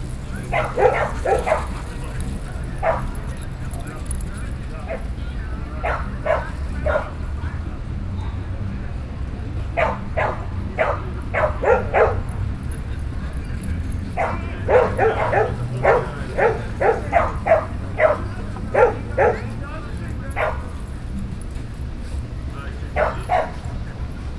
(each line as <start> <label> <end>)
0.2 dogs 7.4
9.7 dogs 22.2
22.8 dogs 24.3